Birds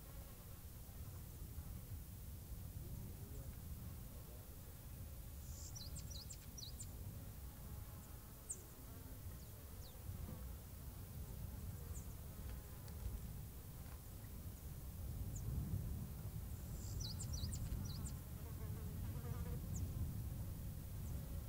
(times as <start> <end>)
4.8 7.0, 8.0 10.1, 11.8 13.0, 16.5 18.3